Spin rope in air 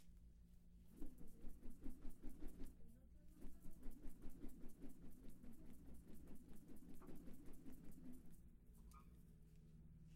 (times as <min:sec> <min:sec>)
0:00.9 0:08.5